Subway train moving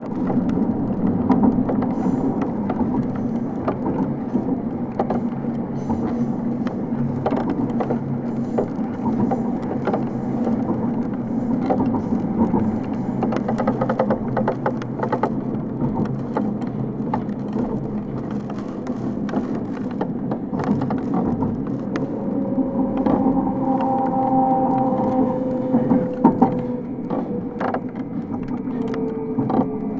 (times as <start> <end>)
22.2 29.9